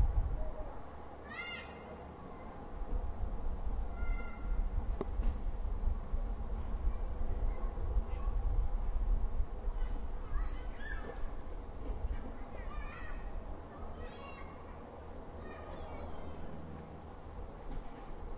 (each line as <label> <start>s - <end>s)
slight wind mic noise 0.0s - 0.8s
Kids playing nearby 0.2s - 3.1s
slight wind mic noise 2.7s - 13.5s
Kids playing nearby 3.7s - 4.8s
Kids playing nearby 6.4s - 9.0s
Kids playing nearby 9.6s - 18.3s
people chatting 12.0s - 16.5s